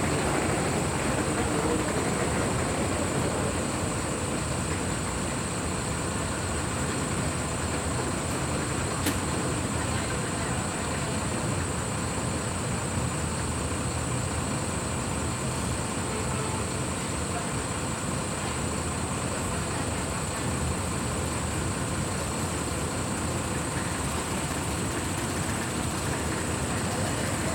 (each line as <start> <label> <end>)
21.0 AC unit flapping and grinding 27.5